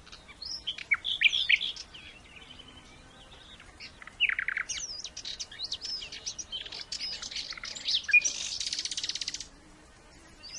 Nightingale song 0.0 - 10.5
Warbler 0.0 - 10.5
insects flying around 0.0 - 10.5

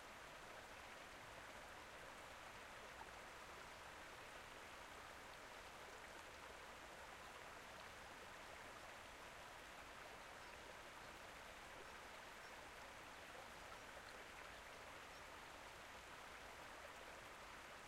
waterfall 0.0 - 17.8

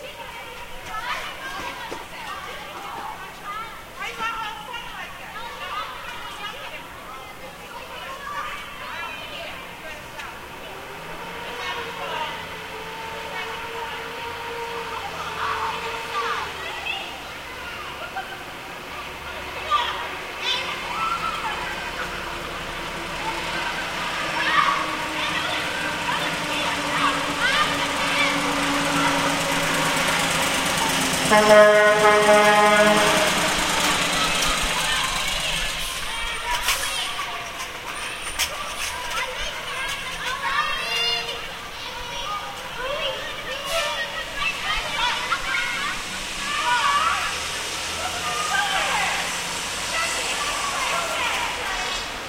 S-train going by 0.0 - 52.2
cars 0.0 - 52.2
kids yelling 0.0 - 52.2
trucks 0.0 - 52.2
horn 31.1 - 34.1

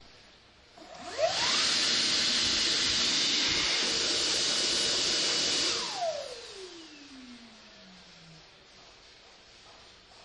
super fast hand dryer 0.8 - 8.5

